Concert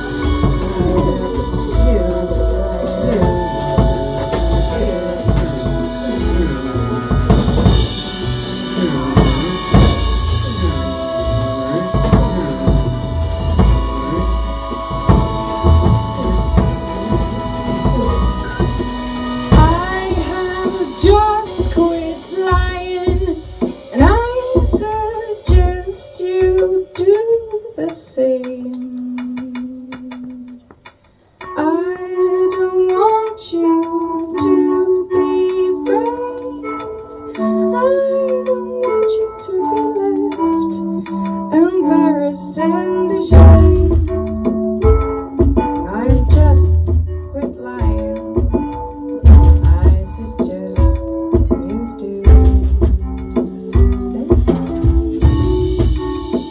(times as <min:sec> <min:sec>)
0:00.0 0:27.4